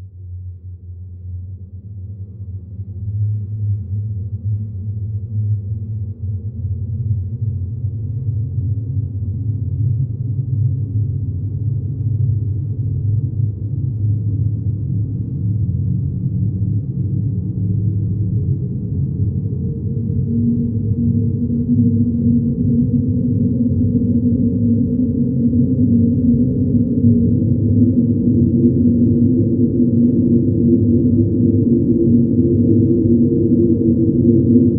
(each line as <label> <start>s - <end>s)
space sweeping sound with frequency going from low till high 18.7s - 34.7s